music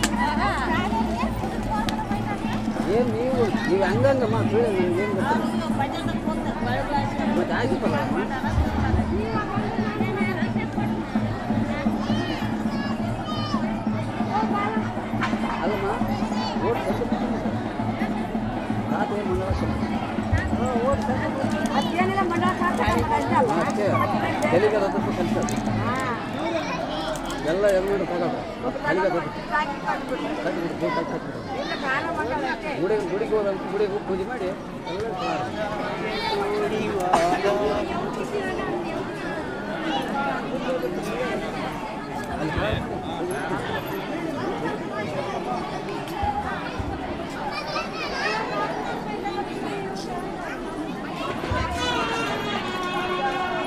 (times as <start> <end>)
0.0 28.0, 50.3 53.6